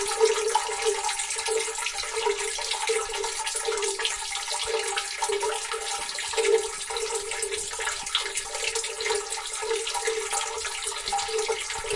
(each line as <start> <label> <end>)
0.0 Water dripping with natural effect 11.9